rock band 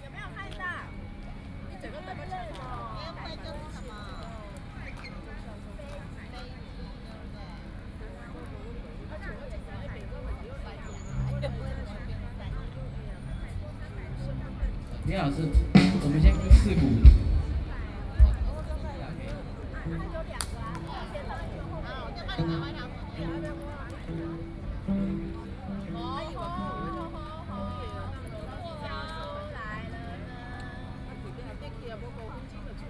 15.2 18.8

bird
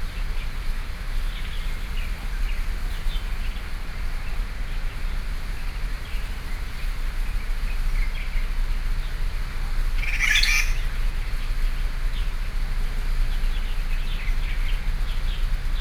5.9 12.4

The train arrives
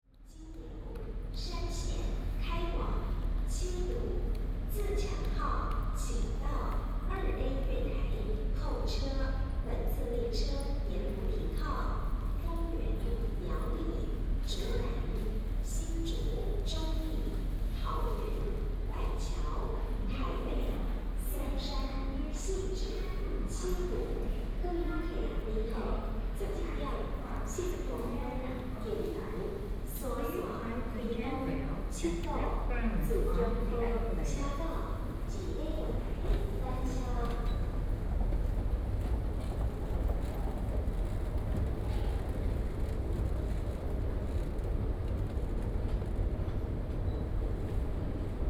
32.6 48.4

